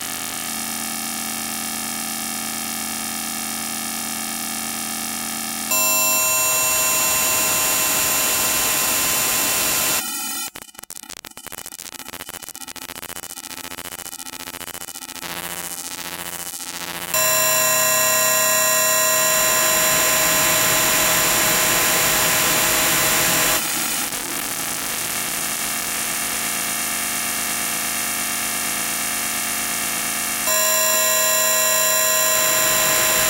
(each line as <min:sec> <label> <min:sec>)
0:05.7 harsh high-pitched tonal drone 0:10.6
0:17.2 harsh high-pitched tonal drone 0:24.2
0:30.5 harsh high-pitched tonal drone 0:33.2